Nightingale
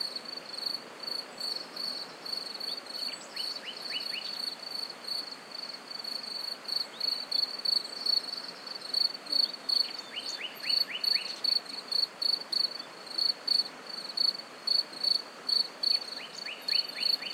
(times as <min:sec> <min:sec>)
0:06.1 0:17.3